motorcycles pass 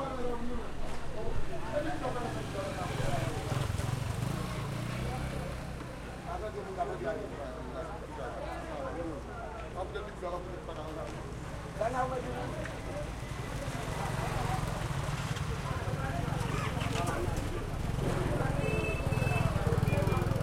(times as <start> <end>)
1.5 8.0, 11.6 20.4